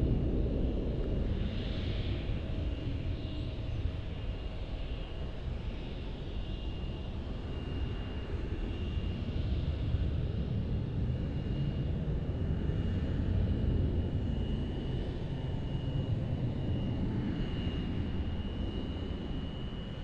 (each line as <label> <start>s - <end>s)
aircraft 0.0s - 20.0s